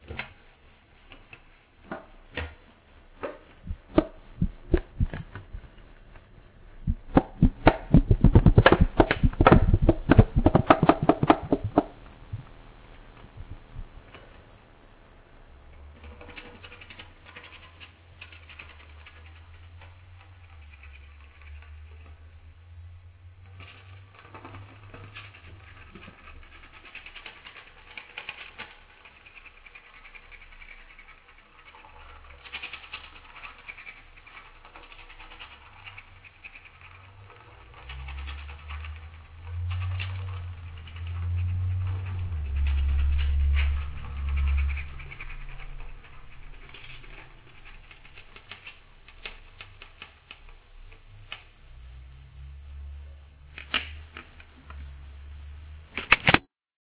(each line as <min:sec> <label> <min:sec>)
0:00.0 Scrapping and Bending Cheap Alu 0:56.5